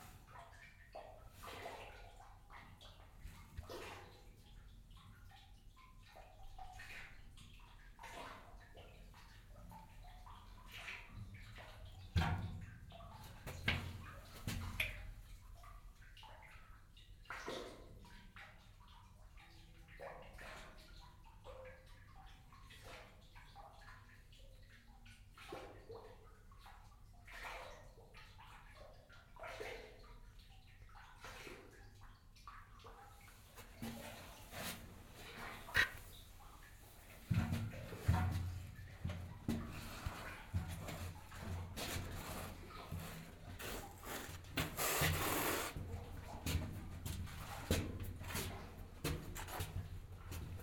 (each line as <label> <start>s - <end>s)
walk through the narrow tunnel 6.0s - 15.9s
walk through the narrow tunnel 31.2s - 50.6s